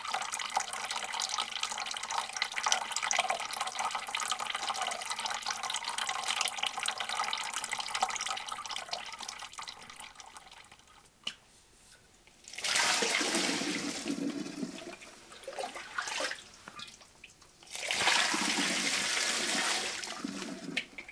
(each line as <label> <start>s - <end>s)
wine trickling out of the barrel 17.6s - 21.1s